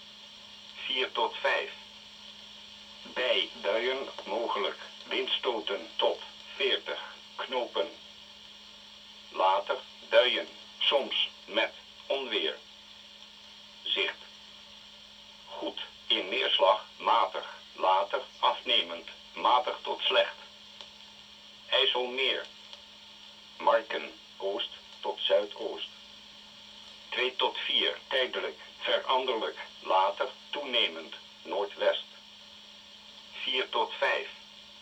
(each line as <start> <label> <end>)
0.8 wheather forecast of the netherlands coastguard 1.9
3.0 wheather forecast of the netherlands coastguard 8.0
9.3 wheather forecast of the netherlands coastguard 12.7
13.8 wheather forecast of the netherlands coastguard 14.3
15.5 wheather forecast of the netherlands coastguard 20.6
21.7 wheather forecast of the netherlands coastguard 22.5
23.6 wheather forecast of the netherlands coastguard 26.0
27.1 wheather forecast of the netherlands coastguard 32.2
33.3 wheather forecast of the netherlands coastguard 34.4